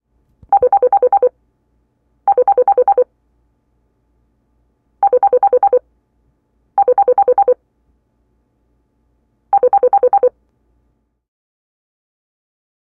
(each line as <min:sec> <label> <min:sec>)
0:09.6 digital phone ring bip 0:10.3